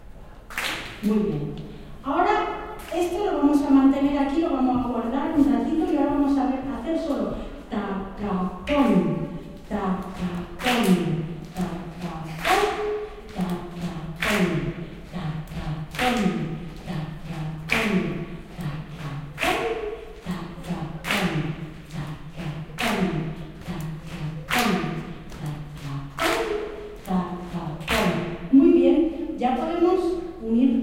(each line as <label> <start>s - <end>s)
Audience clap hands 0.4s - 1.1s
female voice instructing on a basic flamenco rhythm 1.0s - 30.8s
Audience clap hands 10.6s - 13.6s
Audience clap hands 14.2s - 14.8s
Audience clap hands 17.6s - 20.3s
Audience clap hands 21.0s - 22.1s
Audience clap hands 22.7s - 26.6s
Audience clap hands 27.8s - 28.2s